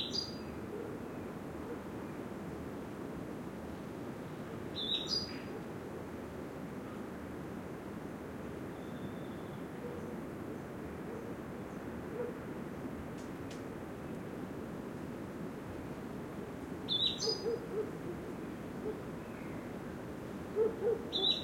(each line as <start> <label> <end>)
0.0 wind 21.4
4.8 birdsong 5.5
16.9 birdsong 17.8
16.9 animals 19.0
20.6 animals 21.4
20.8 birdsong 21.4